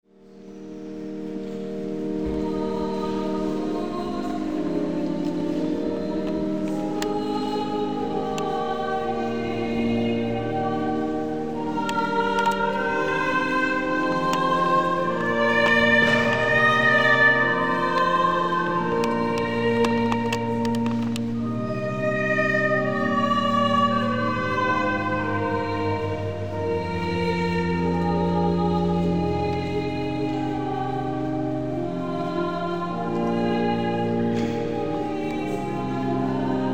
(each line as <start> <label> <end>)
0.2 Concerto sacro 36.7